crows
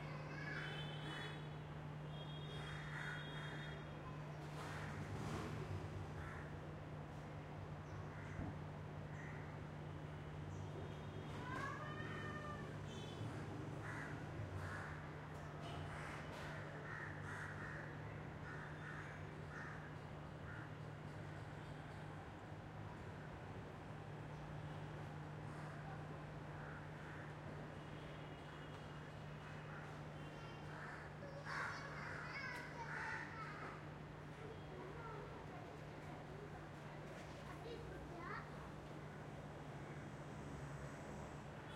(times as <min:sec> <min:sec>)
0:02.6 0:03.8, 0:06.2 0:06.5, 0:09.2 0:09.5, 0:13.8 0:20.8, 0:26.6 0:27.3, 0:29.5 0:33.8